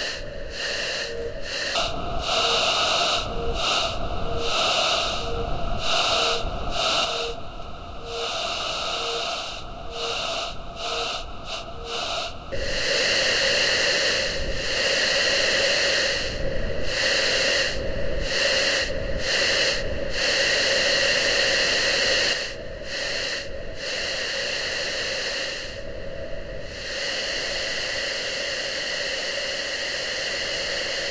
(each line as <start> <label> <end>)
0.0 synthesized voices 12.4
0.0 whispers 13.0
0.0 wind 31.1